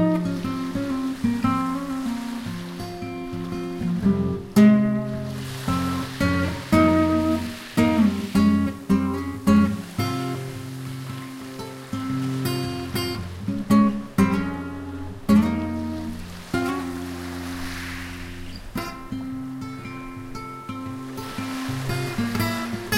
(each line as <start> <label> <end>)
0.0 acoustic guitar improvisation 22.9
0.0 sea 22.9